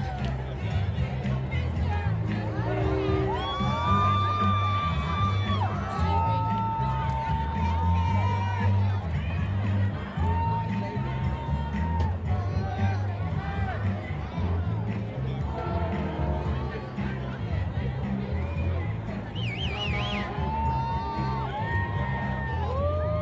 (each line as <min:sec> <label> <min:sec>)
0:00.0 yelling spectators 0:23.2
0:00.4 music and sounds from passing floats 0:09.9
0:12.5 music and sounds from passing floats 0:23.0